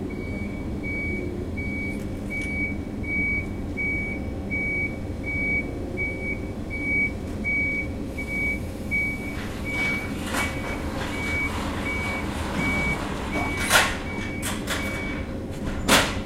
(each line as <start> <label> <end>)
0.0 cars 16.2
0.0 forklift 16.2
0.1 beeping 15.3